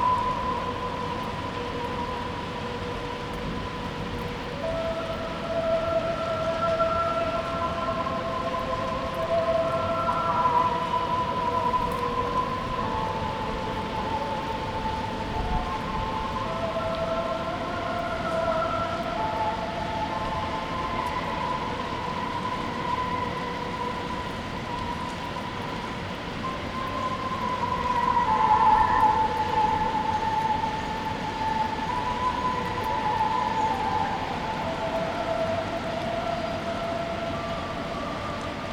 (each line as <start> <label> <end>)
0.0 street with coming rain 38.7